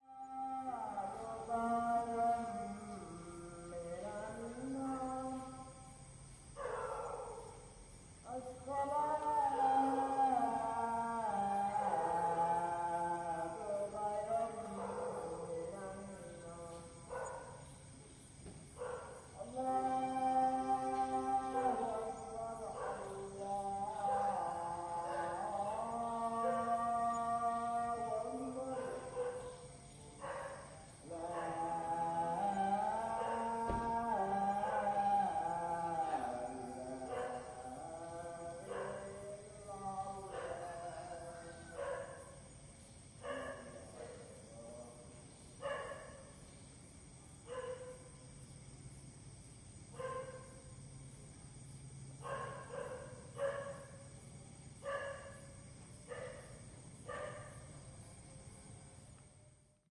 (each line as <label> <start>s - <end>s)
monk singing 0.0s - 5.9s
monk singing 8.2s - 17.6s
monk singing 19.3s - 42.4s
monk singing 43.2s - 45.9s